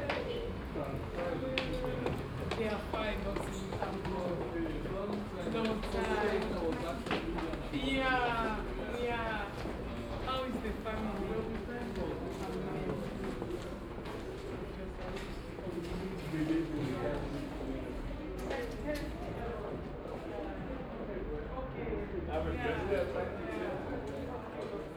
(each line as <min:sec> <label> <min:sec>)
0:00.0 voices 0:24.9
0:00.0 steps at the stairways to the platform 0:16.4